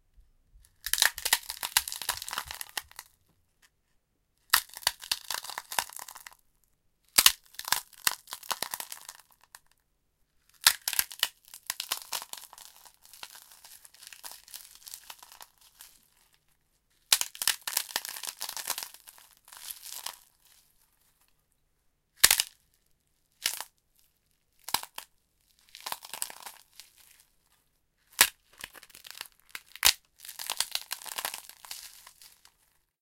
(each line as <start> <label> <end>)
0.8 crunching up prawn crackers 3.1
4.5 crunching up prawn crackers 6.4
7.2 crunching up prawn crackers 9.6
10.6 crunching up prawn crackers 16.2
17.1 crunching up prawn crackers 20.5
24.6 crunching up prawn crackers 27.3
28.2 crunching up prawn crackers 32.8